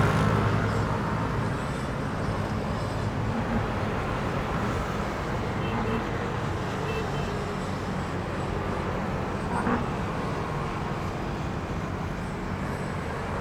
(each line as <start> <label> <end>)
0.0 Traffic noise 13.4